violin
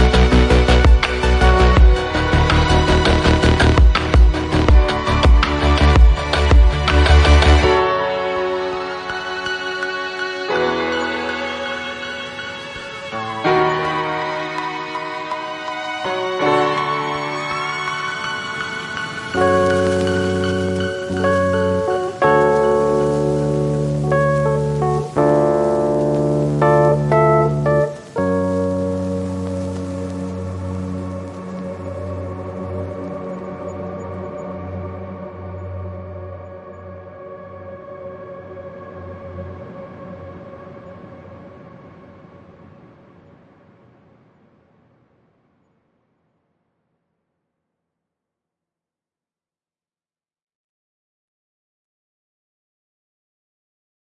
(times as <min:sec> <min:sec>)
0:00.0 0:36.6